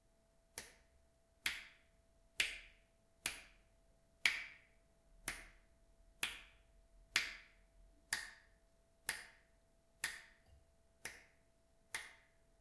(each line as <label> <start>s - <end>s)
finger snapping 0.6s - 1.8s
finger snapping 2.4s - 3.6s
finger snapping 4.2s - 5.6s
finger snapping 6.2s - 7.5s
finger snapping 8.1s - 10.4s
finger snapping 11.0s - 12.4s